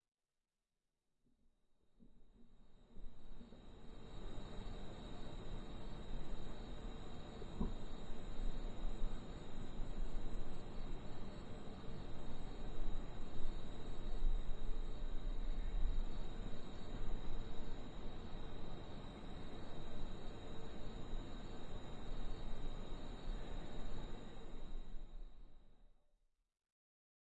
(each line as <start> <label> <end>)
2.4 crickets 25.7